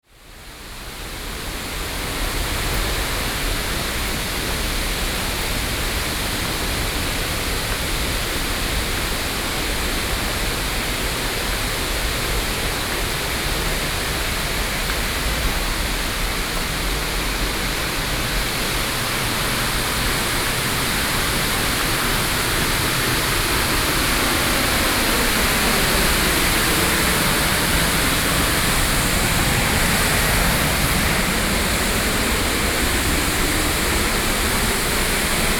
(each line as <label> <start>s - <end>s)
Waterfall 0.0s - 35.5s